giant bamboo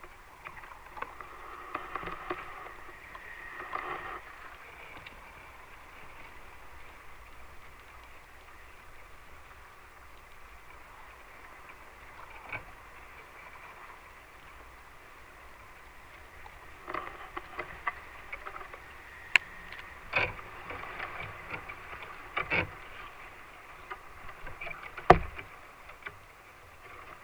11.4 27.2

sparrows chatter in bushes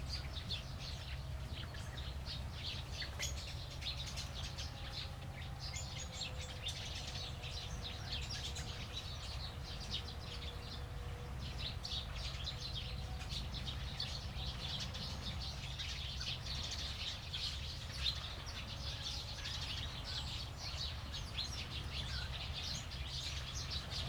5.7 24.0

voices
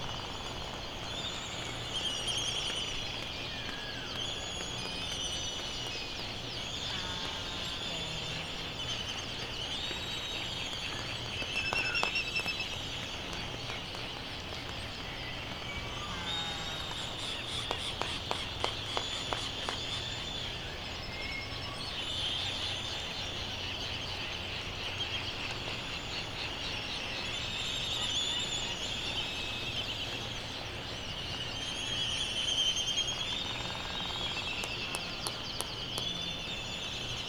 6.8 9.5

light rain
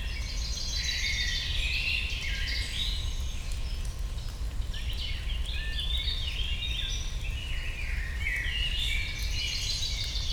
2.7 10.3

